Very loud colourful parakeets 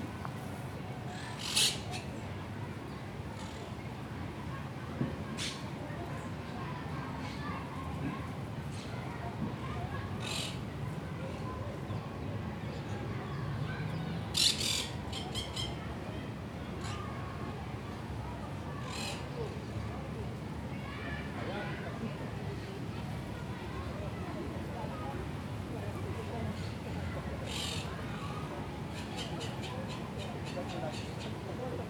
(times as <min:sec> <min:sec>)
0:14.3 0:15.7